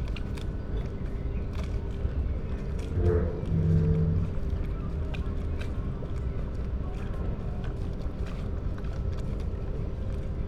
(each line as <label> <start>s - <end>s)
distant thunder rumble 3.0s - 4.7s